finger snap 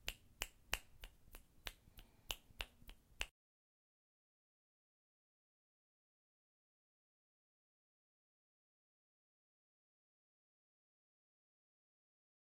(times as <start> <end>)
0.0 3.3